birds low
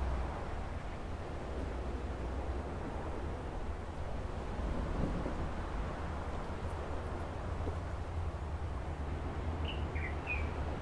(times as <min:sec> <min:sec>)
0:09.6 0:10.6